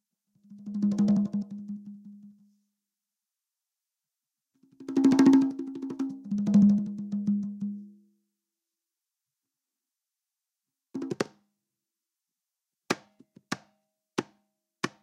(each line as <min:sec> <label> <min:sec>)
0:00.5 conga beats 0:02.2
0:04.8 conga beats 0:07.8
0:11.0 conga beats 0:11.4